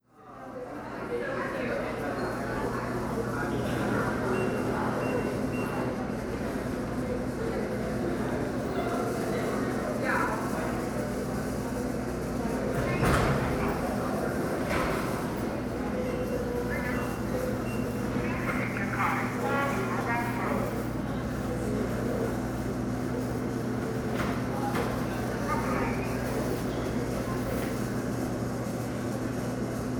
1.9s people going about their day 29.9s
3.6s buses picking up students 29.9s

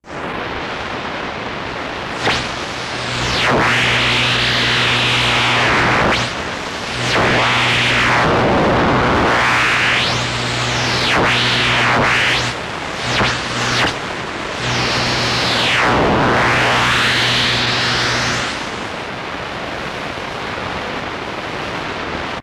1.6s Radio Static 19.3s

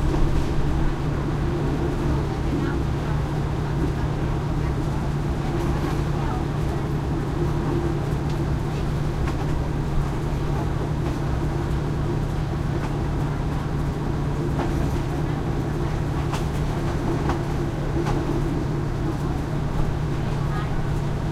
0.0s passenger commuter train open air on board 21.3s
0.0s thai chatter walla 21.3s

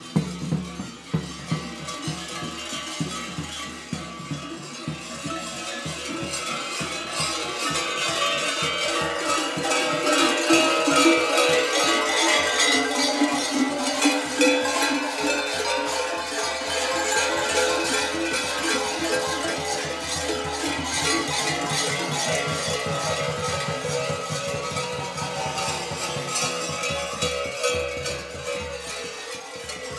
0.0s crowd ambience 29.9s
0.0s deep, resonant beat of the tupan 29.9s
0.0s jingling bells 29.9s
11.7s footsteps 27.2s

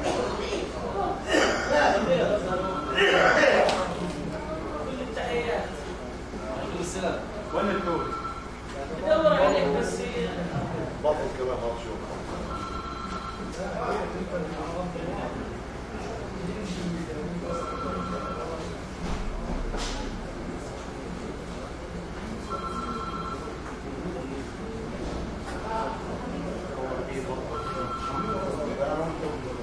7.6s phone ring never picked up 8.5s
12.5s phone ring never picked up 13.5s
17.5s phone ring never picked up 18.7s
22.5s phone ring never picked up 23.5s
27.6s phone ring never picked up 28.6s

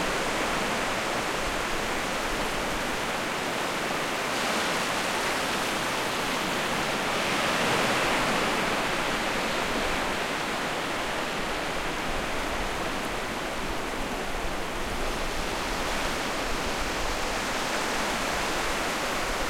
0.0s waves 19.4s

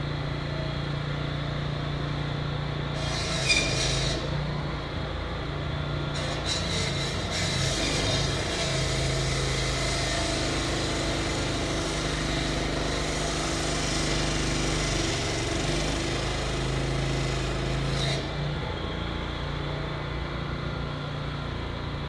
0.0s construction worker cutting up the concrete sidewalk 22.0s

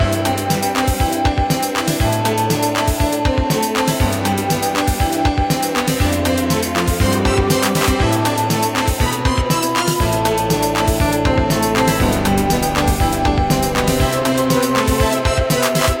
0.0s flute 16.0s
0.0s piano 16.0s
3.2s violin 16.0s
9.6s synth 16.0s

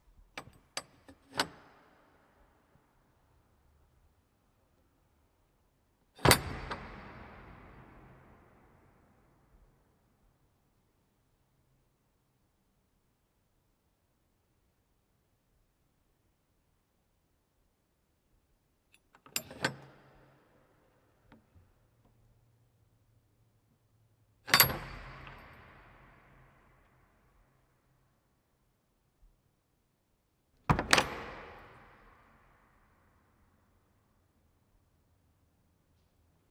0.3s Old door lock 2.7s
6.2s Old door lock 8.2s
18.9s Old door lock 22.3s
24.4s Old door lock 27.0s
30.6s Old door lock 32.5s

